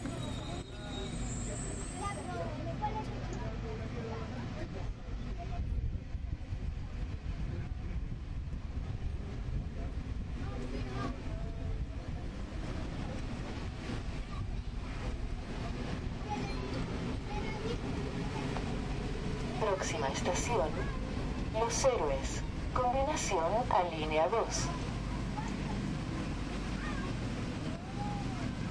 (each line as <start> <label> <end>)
0.0 Crowd 8.3
9.1 Crowd 19.8
18.1 PA announcement in Metro train 25.3